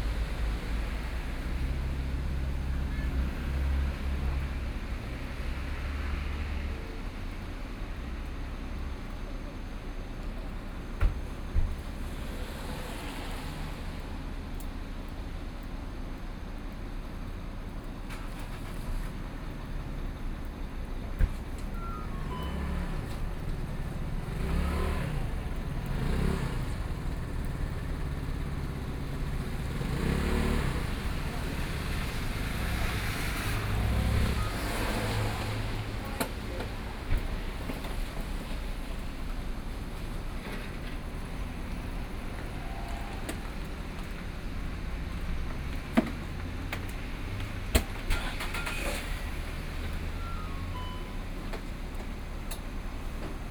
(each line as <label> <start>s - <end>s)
Rainy Day 0.0s - 53.5s
Traffic Sound 0.0s - 53.5s